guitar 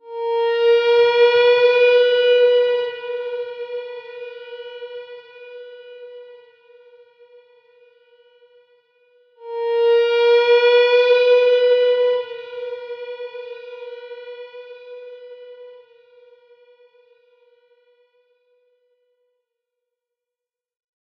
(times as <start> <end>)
9.4 17.2